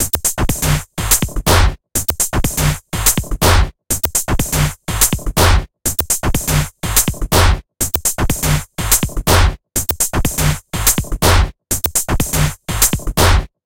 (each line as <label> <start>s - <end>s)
processed beat loop 0.0s - 13.5s